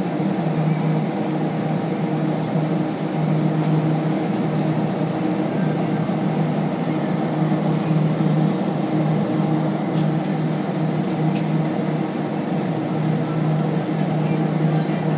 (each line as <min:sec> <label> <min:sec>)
0:00.0 fan 0:15.1